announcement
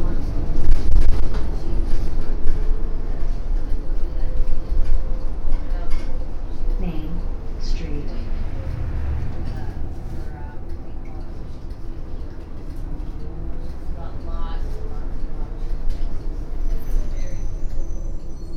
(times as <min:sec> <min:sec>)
0:06.8 0:13.1